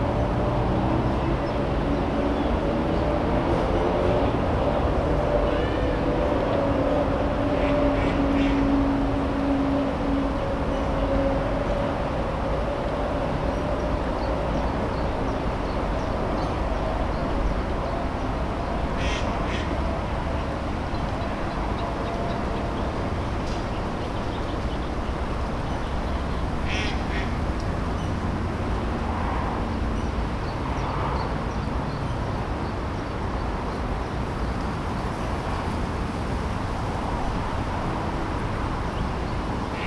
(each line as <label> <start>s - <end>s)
noise of the cars 0.0s - 39.8s
trains 0.0s - 39.8s
ducks 7.6s - 8.7s
geese 7.6s - 8.7s
geese 19.0s - 19.7s
ducks 19.0s - 19.8s
ducks 26.5s - 27.4s
swans 26.5s - 27.4s
geese 26.6s - 27.4s